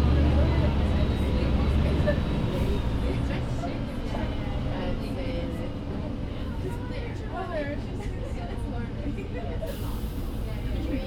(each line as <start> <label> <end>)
0.0 431 bus 11.0